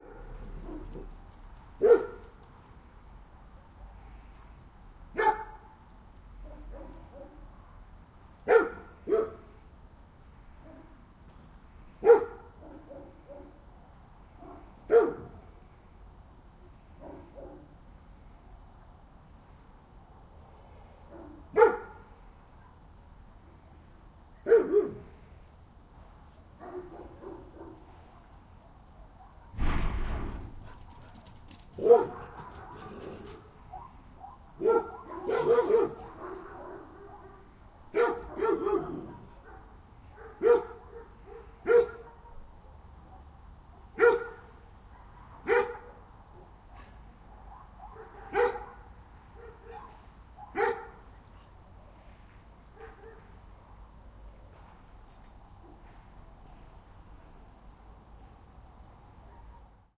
Dog bark 0:00.0 - 0:01.1
Dog bark 0:01.8 - 0:02.3
Dog bark 0:05.1 - 0:05.7
Dog bark 0:06.4 - 0:07.5
Dog bark 0:08.5 - 0:09.5
Dog bark 0:12.0 - 0:13.6
Dog bark 0:14.4 - 0:15.4
Dog bark 0:17.0 - 0:17.7
Dog bark 0:21.1 - 0:22.8
Dog bark 0:24.4 - 0:25.1
Dog bark 0:26.6 - 0:29.6
Dog bark 0:30.5 - 0:42.5
Dog bark 0:43.8 - 0:51.1
Dog bark 0:52.7 - 0:53.4
Dog bark 0:59.2 - 0:59.8

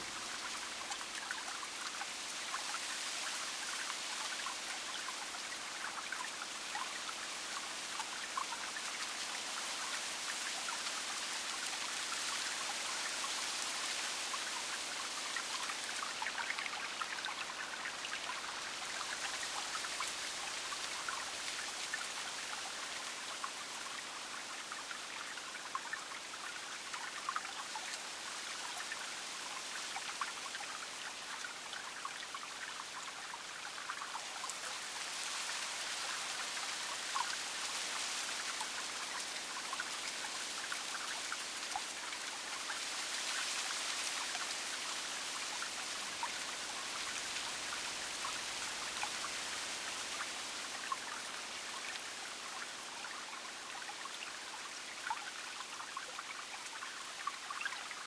rustling leaves on the ground 0:00.0 - 0:25.2
light consistent breeze blowing through trees 0:00.0 - 0:58.0
small stream flowing over rocks 0:00.0 - 0:58.0
rustling leaves on the ground 0:33.5 - 0:54.2

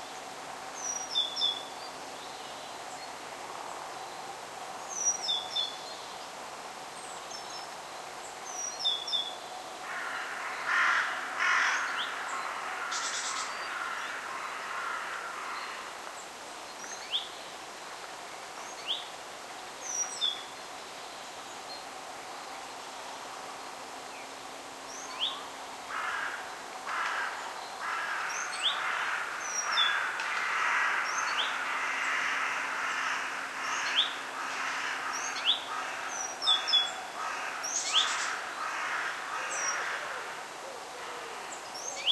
crows singing 0:09.1 - 0:16.1
crows singing 0:24.9 - 0:42.1

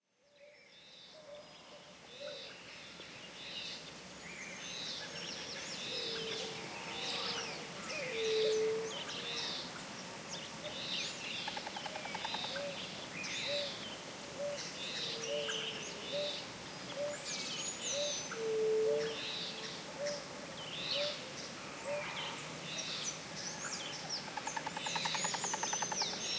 Song and calls of birds 0:00.2 - 0:26.3
Waterfall noise in the background 0:00.3 - 0:26.3

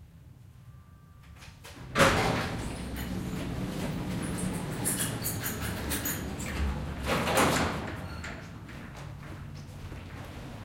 Goods lift door closing 0:01.7 - 0:08.7

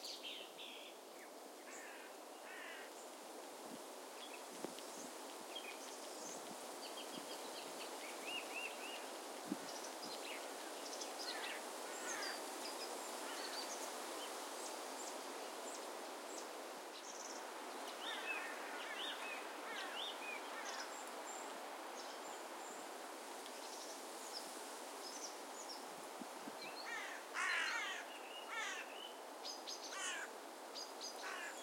Wind in forest 0:00.0 - 0:31.6
crows 0:01.7 - 0:02.9
crows 0:11.3 - 0:12.4
crows 0:18.1 - 0:20.9
crows 0:26.8 - 0:28.9
crows 0:29.9 - 0:30.3
crows 0:31.2 - 0:31.6

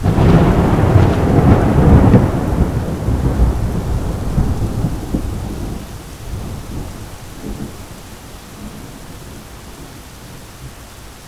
Thunder clap 0:00.0 - 0:09.9

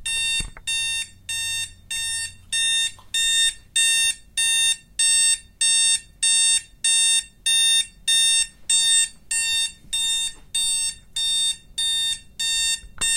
Beep of standard digital alarm clock 0:00.0 - 0:13.1

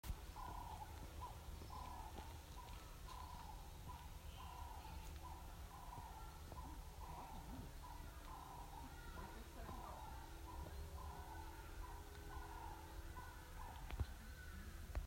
bird calls 0:00.1 - 0:15.0

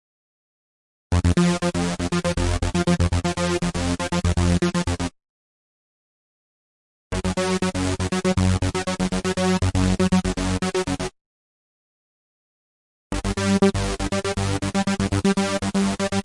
basslines 0:01.1 - 0:05.1
basslines 0:07.1 - 0:11.1
basslines 0:13.1 - 0:16.2

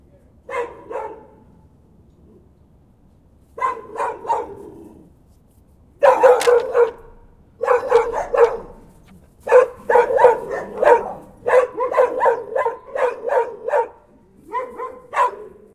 Group of DOGS Barking 0:03.6 - 0:05.1
Group of DOGS Barking 0:06.0 - 0:15.7

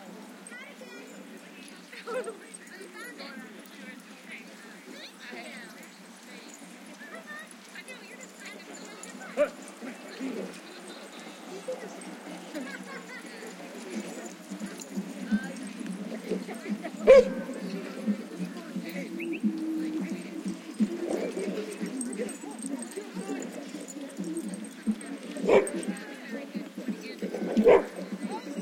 people 0:00.0 - 0:28.6
barking 0:11.6 - 0:26.0
barking 0:27.3 - 0:28.6

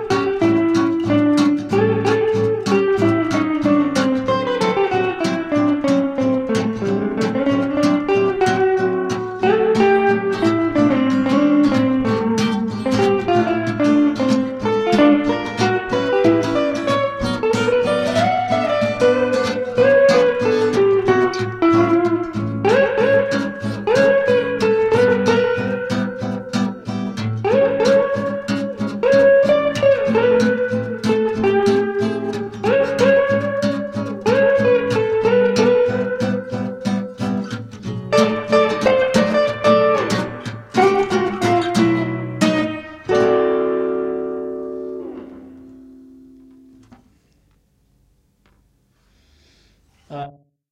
acoustic guitar 0:00.0 - 0:50.3
semi-holow electric guitar 0:00.0 - 0:50.4

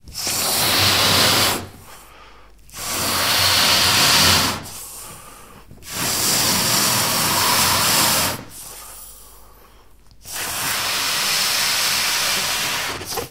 Blowing Balloon 0:00.0 - 0:01.9
Blowing Balloon 0:02.7 - 0:05.1
Blowing Balloon 0:05.8 - 0:09.0
Blowing Balloon 0:10.2 - 0:13.2

